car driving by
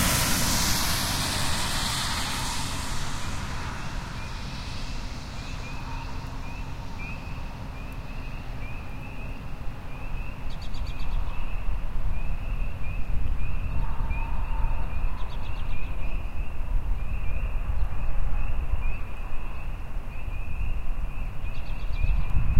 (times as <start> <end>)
0.0 8.6